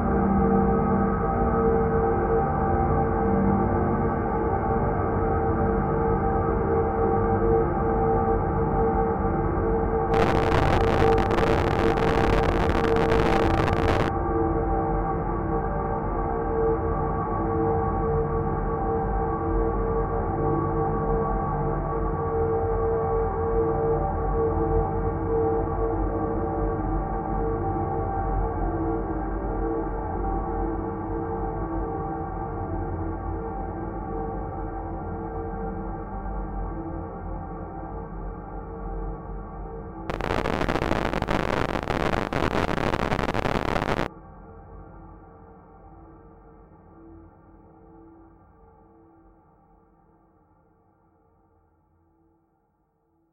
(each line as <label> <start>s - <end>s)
heavily reverberated distortion 10.1s - 14.1s
slowly evolving dreamy ambient drone pad 10.1s - 14.1s
heavily reverberated distortion 40.1s - 44.1s